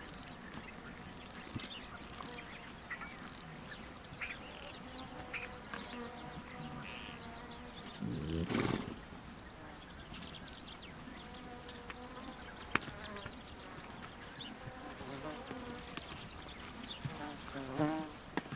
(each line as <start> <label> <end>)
0.0 Birds in BG 18.5
8.0 snorts 9.0